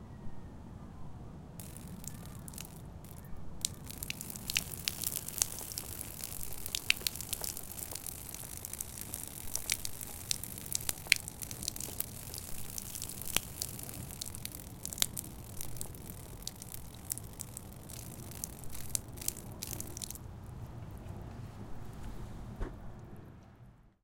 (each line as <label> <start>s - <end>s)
Water dripping 1.6s - 20.3s